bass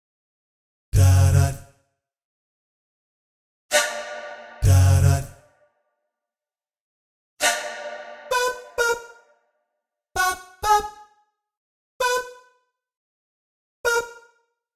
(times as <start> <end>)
1.0 1.7, 4.6 5.3